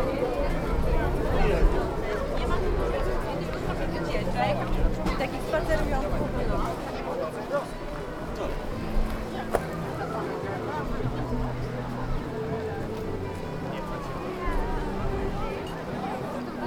0.0s street musicians 16.6s

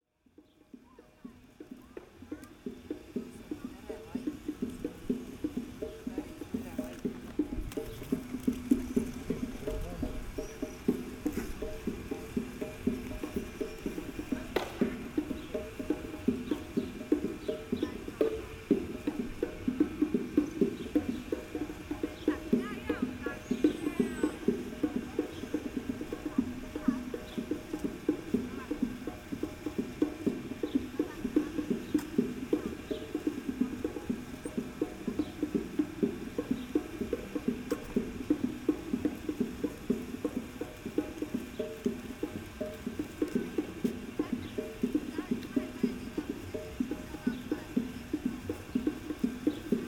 0.0s street musician with percussion 49.8s

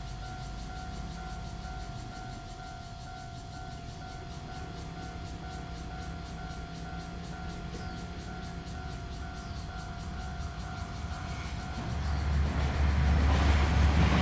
0.0s Cicadas sound 14.2s
0.0s Train traveling through 14.2s
4.1s Traffic Sound 14.2s

